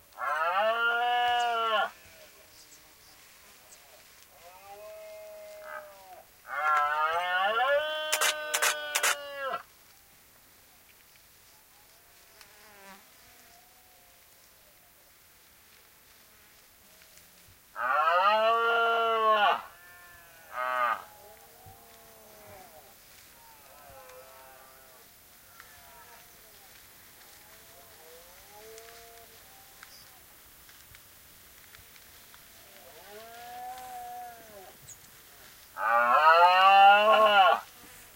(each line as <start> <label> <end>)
7.9 takes pictures 9.4